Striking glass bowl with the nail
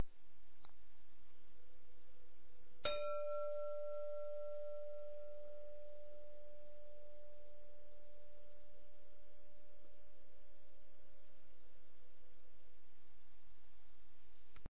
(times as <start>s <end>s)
2.8s 6.6s